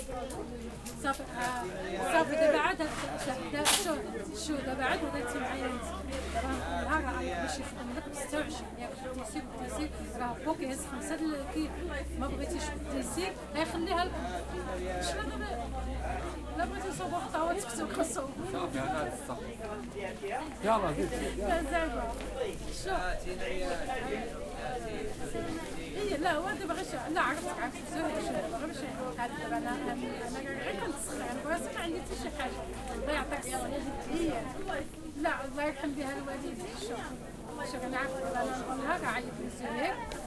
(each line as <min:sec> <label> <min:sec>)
0:00.0 streetcorner people 0:40.2